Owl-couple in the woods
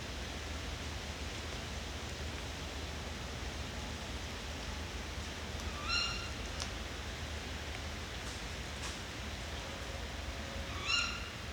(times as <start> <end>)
5.7 6.3, 10.7 11.3